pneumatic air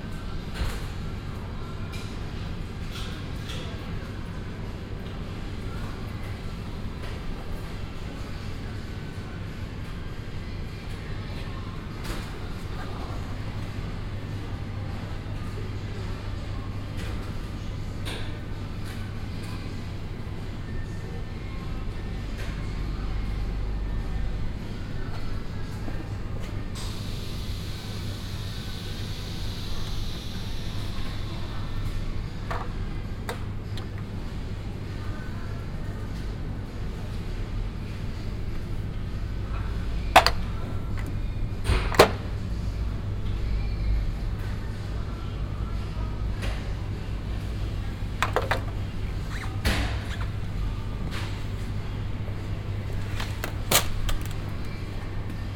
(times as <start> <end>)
26.8 31.1